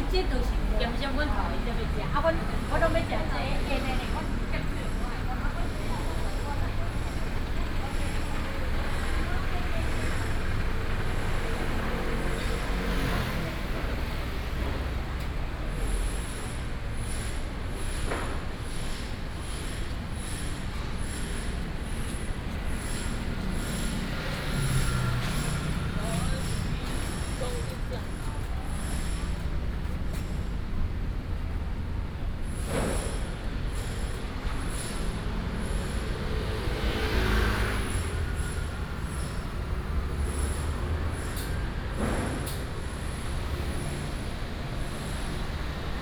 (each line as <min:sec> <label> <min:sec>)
0:00.0 Traffic Sound 0:46.0